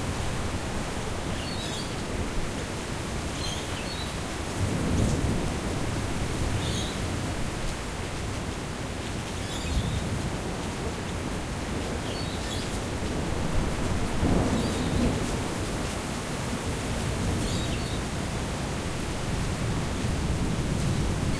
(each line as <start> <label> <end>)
0.0 Torrential rain 21.3
0.0 wind 21.3
12.0 Rainbow lorikeets shelter nearby and call to each other 12.7
17.4 Rainbow lorikeets shelter nearby and call to each other 18.0